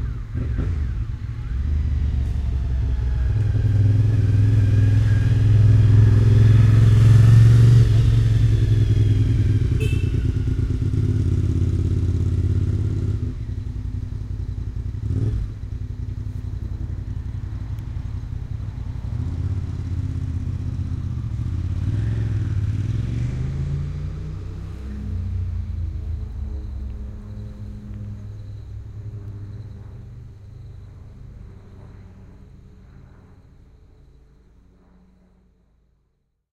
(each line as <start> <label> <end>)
0.0 Motorcycle passes 35.5
0.0 plane passes overhead 36.4
9.8 sounds a short horn 10.6